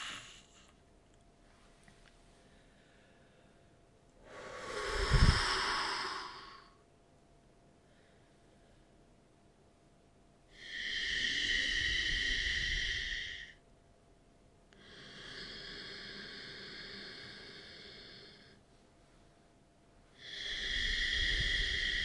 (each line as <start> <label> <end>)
0.0 inhale and exhale with the yogic ujjayi breath 0.7
2.3 inhale and exhale with the yogic ujjayi breath 7.0
7.7 inhale and exhale with the yogic ujjayi breath 9.2
10.5 inhale and exhale with the yogic ujjayi breath 13.6
14.8 inhale and exhale with the yogic ujjayi breath 19.2
20.1 inhale and exhale with the yogic ujjayi breath 22.0